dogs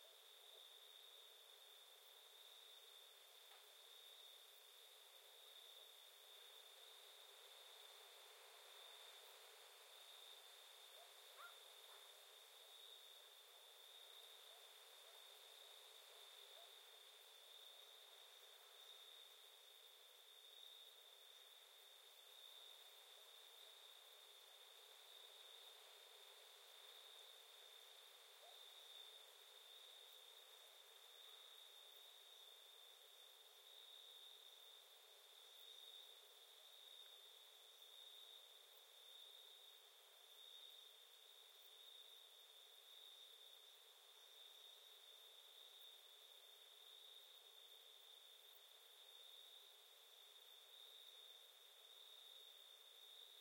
0:11.0 0:12.2

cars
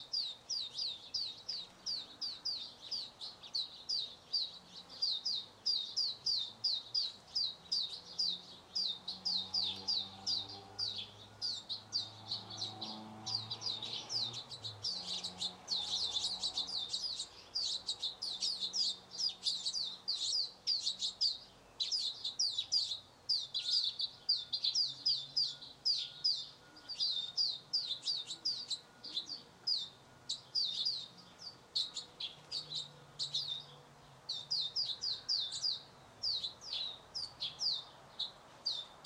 0:08.0 0:17.2

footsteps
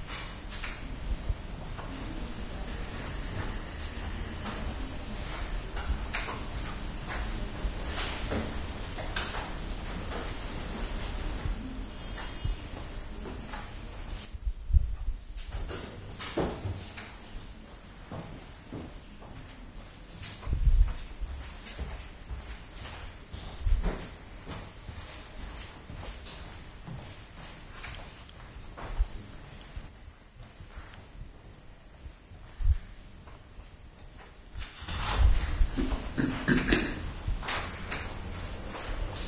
0:18.1 0:39.2

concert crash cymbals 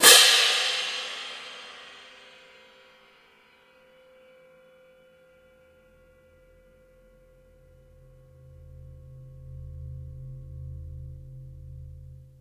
0:00.0 0:03.4

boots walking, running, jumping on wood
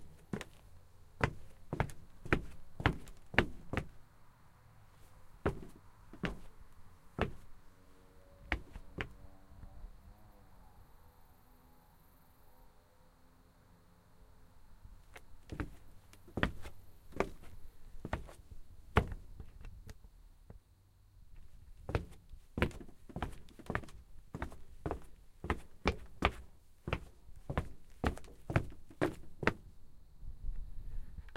0:00.0 0:00.6, 0:01.2 0:04.0, 0:05.4 0:06.5, 0:07.2 0:07.5, 0:08.5 0:09.2, 0:15.5 0:18.4, 0:19.0 0:19.5, 0:21.9 0:29.6

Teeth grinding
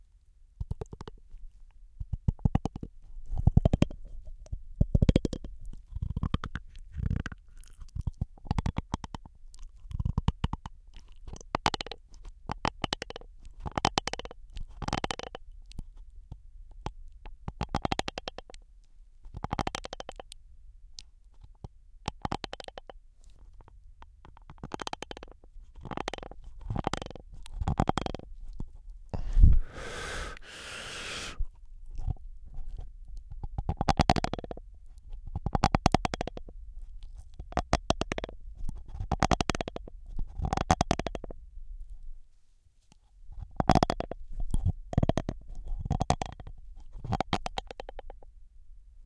0:02.0 0:04.0, 0:04.8 0:15.4, 0:17.5 0:18.6, 0:19.3 0:20.4, 0:22.1 0:28.3, 0:29.7 0:41.4, 0:43.4 0:48.2

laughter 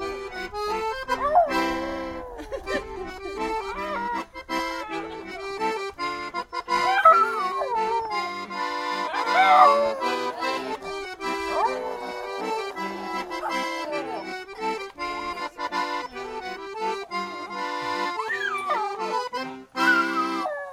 0:01.5 0:05.7

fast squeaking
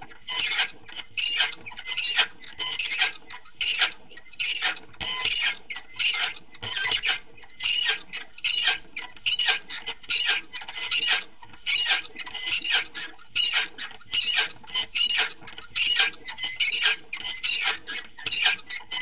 0:05.4 0:19.0

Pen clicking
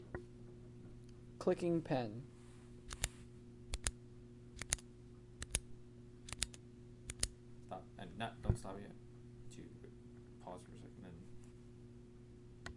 0:03.7 0:04.0, 0:04.6 0:04.8, 0:05.4 0:05.6, 0:06.3 0:07.3

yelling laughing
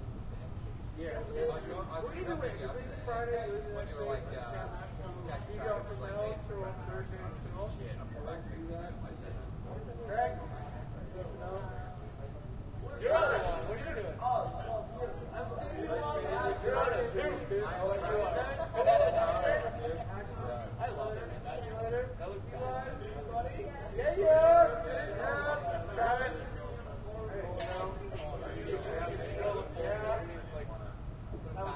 0:18.1 0:19.8

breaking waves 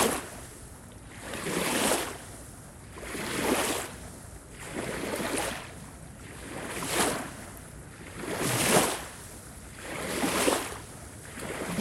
0:08.1 0:11.8

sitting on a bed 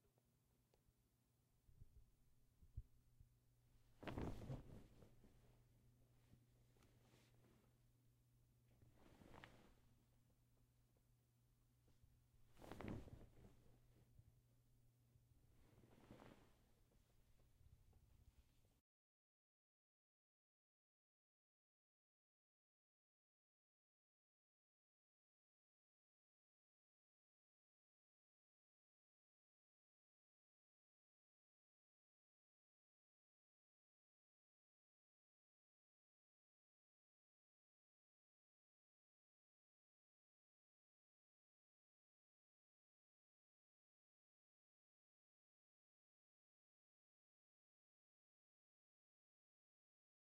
0:00.0 0:18.8

